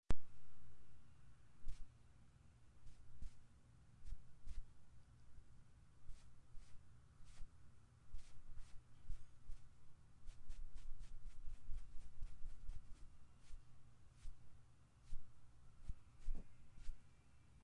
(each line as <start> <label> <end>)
1.6 makeup brush on skin 1.9
2.8 makeup brush on skin 4.8
6.0 makeup brush on skin 17.1